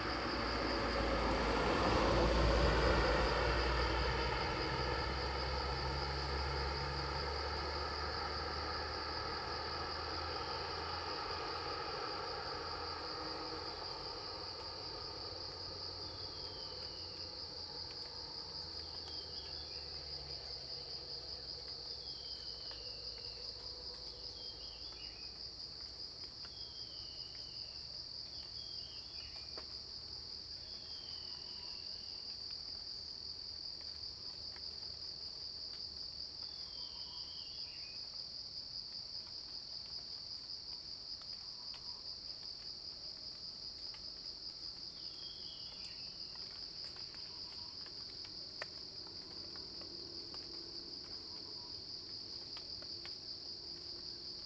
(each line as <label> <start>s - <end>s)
Rain sound 0.0s - 26.0s
Insects called 0.0s - 33.2s
Insects called 41.4s - 54.4s
Rain sound 45.7s - 54.4s